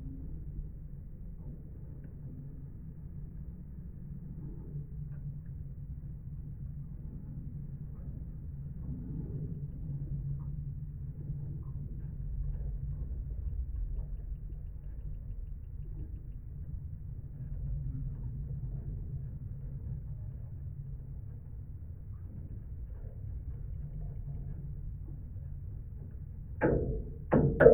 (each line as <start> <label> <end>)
26.6 metallic fence 27.7